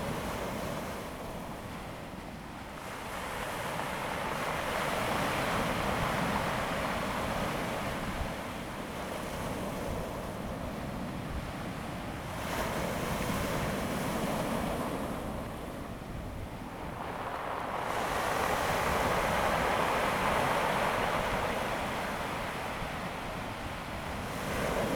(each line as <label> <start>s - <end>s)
waves 0.0s - 24.9s